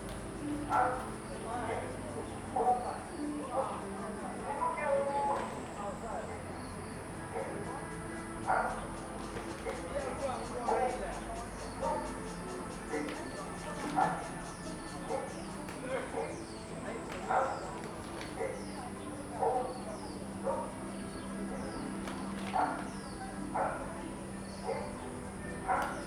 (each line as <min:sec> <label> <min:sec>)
0:00.0 Birds 0:26.0
0:00.0 cicadas 0:26.0
0:00.0 people are doing aerobics 0:26.0
0:00.0 Playing badminton 0:01.4
0:11.6 Playing badminton 0:19.8